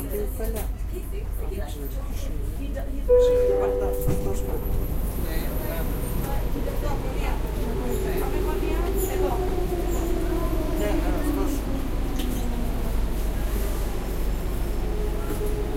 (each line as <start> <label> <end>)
0.0 People talking 12.3
0.0 ride in the Athens underground 15.7
3.0 announcements for each station 7.6